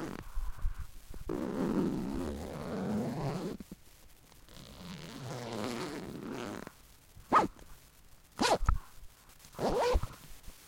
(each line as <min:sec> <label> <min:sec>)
0:01.3 backpack being zipped 0:03.6
0:04.6 backpack being zipped 0:06.6
0:07.3 backpack being zipped 0:07.5
0:08.4 backpack being zipped 0:08.6
0:09.6 backpack being zipped 0:10.1